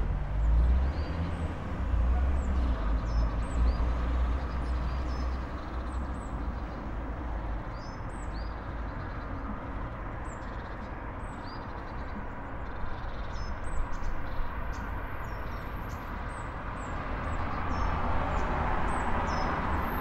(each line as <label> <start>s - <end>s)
cars 0.0s - 20.0s
birdsong 0.3s - 20.0s